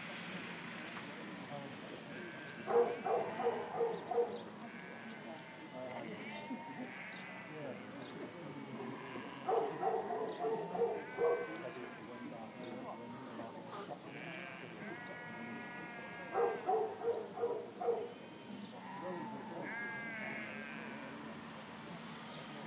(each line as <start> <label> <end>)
0.0 Birds 22.6
0.0 Chatter 22.6
0.0 Sheep 22.6
2.7 Dog 4.4
9.5 Dog 11.6
16.4 Dog 18.1